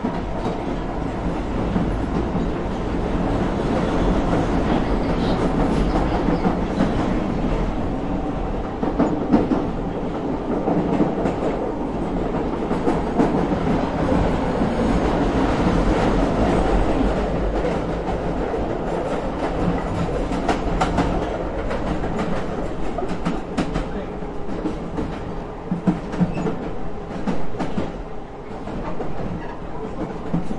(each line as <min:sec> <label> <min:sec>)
0:00.0 tube journey 0:30.5